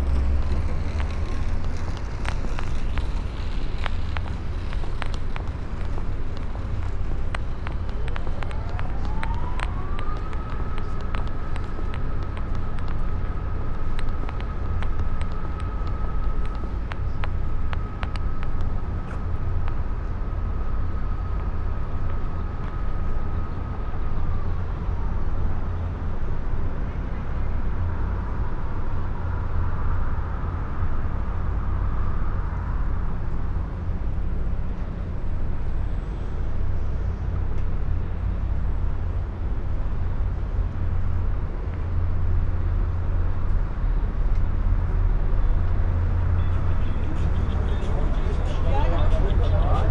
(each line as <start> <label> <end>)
0.0 microphone wires 24.2